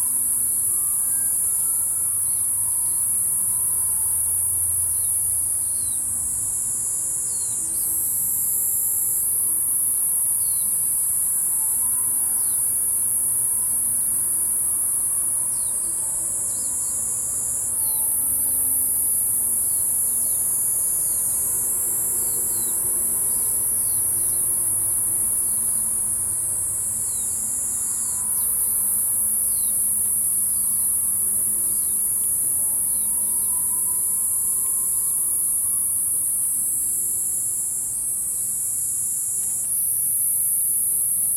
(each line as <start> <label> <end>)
0.0 Insect sounds 41.3
12.7 Traffic Sound 36.4